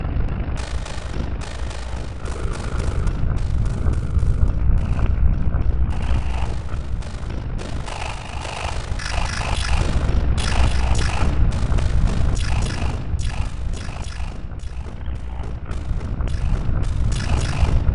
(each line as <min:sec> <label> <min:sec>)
0:00.6 Drum Loop 0:17.9